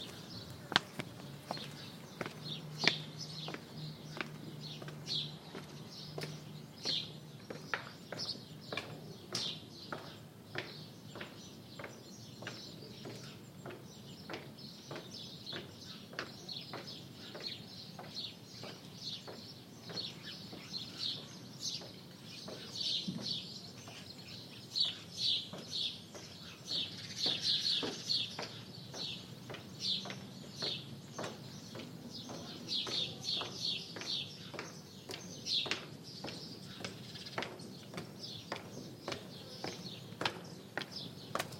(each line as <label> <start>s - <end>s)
bird 0.0s - 41.5s
steps come and go on stone ground 0.0s - 41.5s